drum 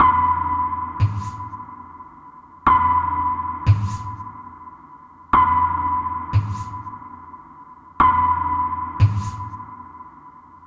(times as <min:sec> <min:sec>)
0:01.0 0:01.6, 0:03.7 0:04.3, 0:06.3 0:06.9, 0:09.0 0:09.6